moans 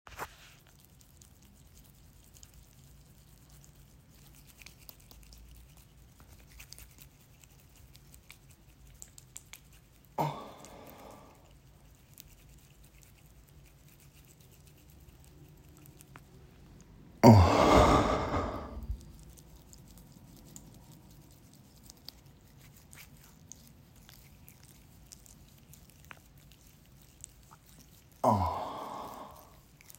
0:17.2 0:19.0, 0:28.2 0:29.5

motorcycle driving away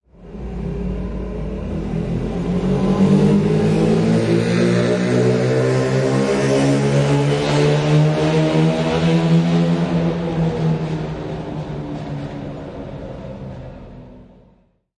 0:00.2 0:11.4

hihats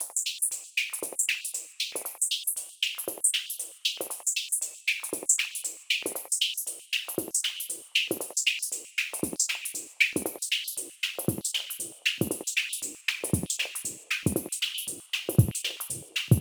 0:13.4 0:16.4

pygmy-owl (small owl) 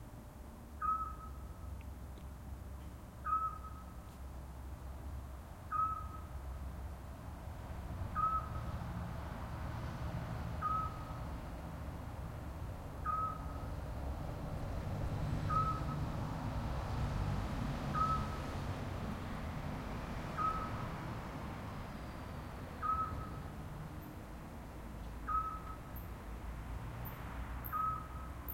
0:00.8 0:01.4, 0:03.2 0:03.9, 0:05.7 0:06.3, 0:08.2 0:08.6, 0:22.8 0:23.4, 0:27.6 0:28.5

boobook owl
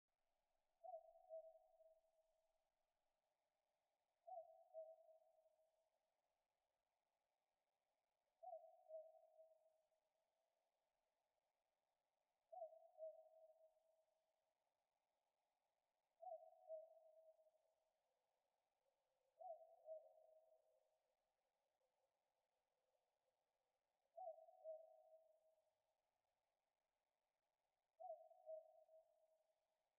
0:28.0 0:28.8

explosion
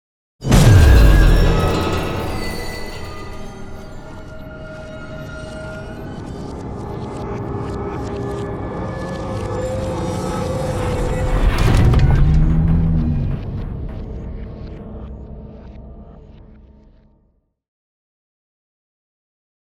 0:00.4 0:06.1

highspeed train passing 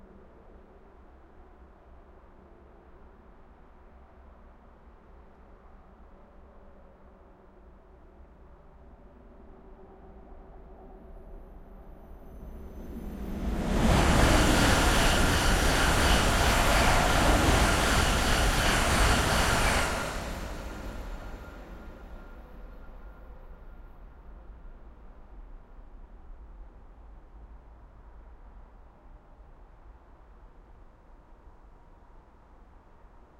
0:11.4 0:25.4

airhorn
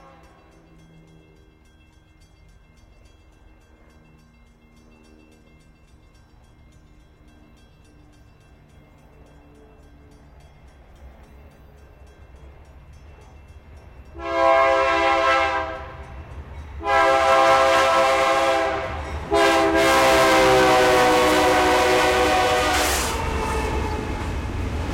0:14.2 0:15.8, 0:16.8 0:23.8

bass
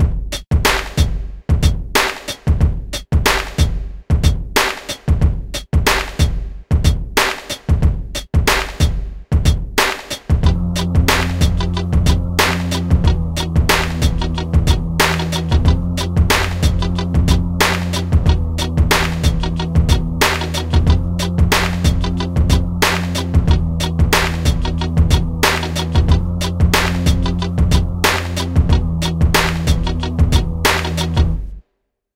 0:10.4 0:31.6

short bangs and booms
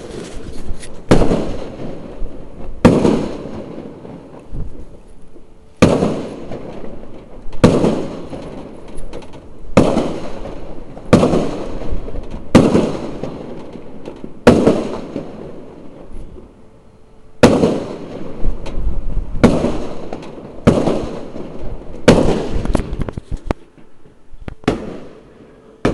0:01.0 0:04.9, 0:05.8 0:16.2, 0:17.4 0:23.0, 0:24.6 0:25.2

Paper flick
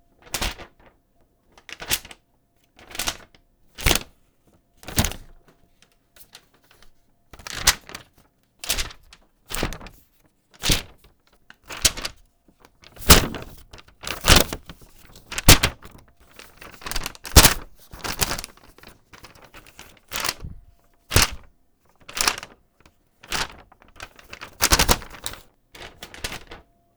0:13.0 0:14.7, 0:15.3 0:15.8, 0:17.4 0:17.6

